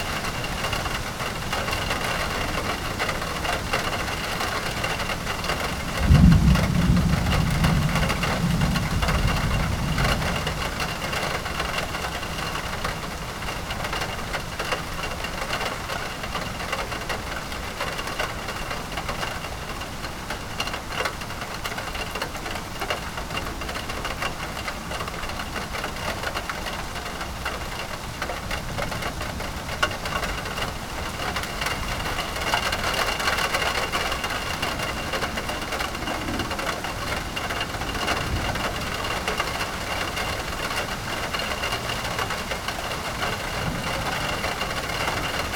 raindrops falling on a metal awning 0.0 - 45.5
thunder 3.8 - 12.8
thunder 30.4 - 45.5

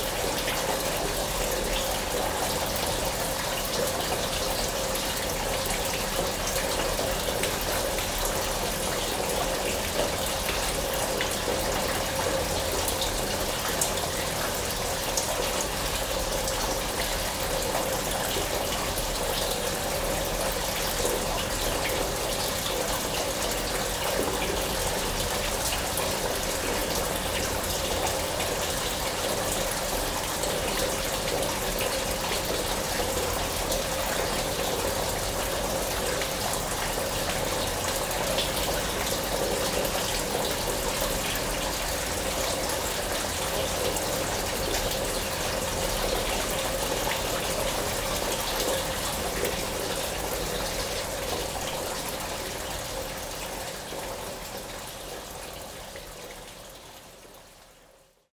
Water oozes from the walls everywhere and fall in tubes 0.0 - 58.3

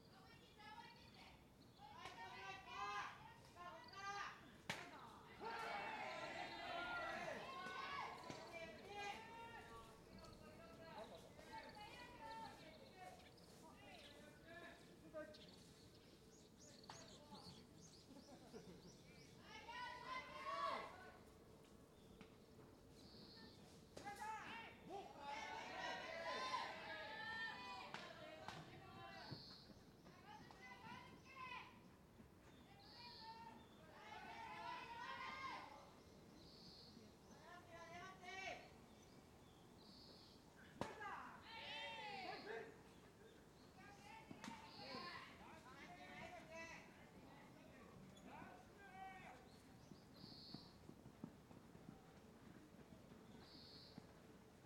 baseball practice 4.4 - 13.3
baseball practice 23.6 - 26.9
baseball practice 27.8 - 32.6
baseball practice 40.1 - 46.9

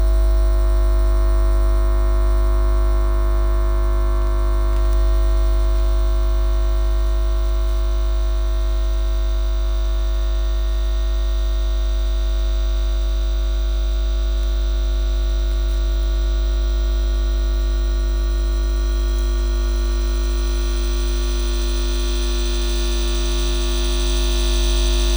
70 kv electric line 0.0 - 25.1

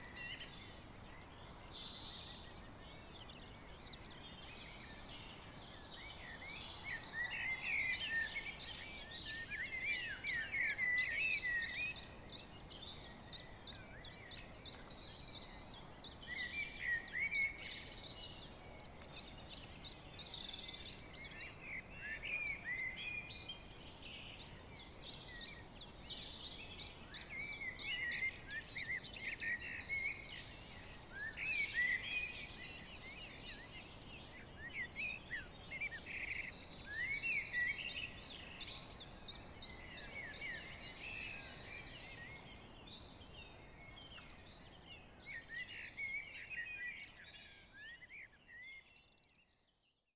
Blackbirds 0.0 - 49.9

